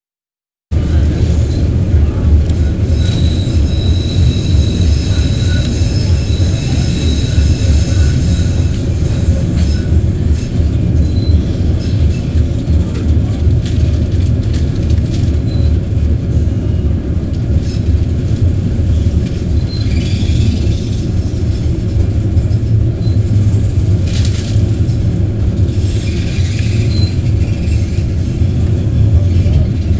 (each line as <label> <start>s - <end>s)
metro ride through a small tunnel 0.7s - 29.9s
chatter 0.9s - 9.9s